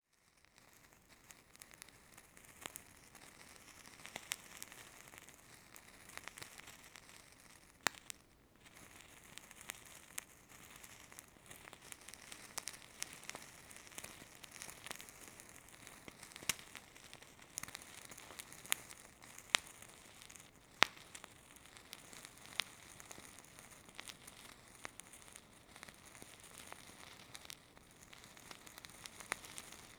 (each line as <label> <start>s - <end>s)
Lighting insence burner charcoal 0.1s - 29.9s